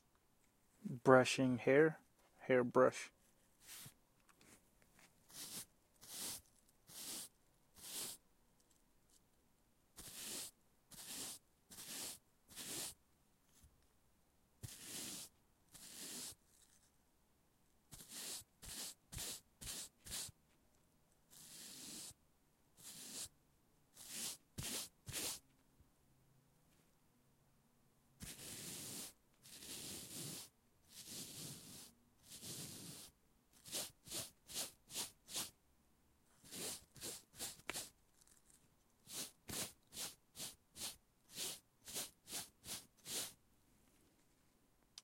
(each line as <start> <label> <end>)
3.6 brush hair 8.2
10.0 brush hair 13.0
14.6 brush hair 16.9
17.9 brush hair 20.4
21.3 brush hair 22.2
22.8 brush hair 23.3
24.0 brush hair 25.4
28.2 brush hair 35.5
36.4 brush hair 43.4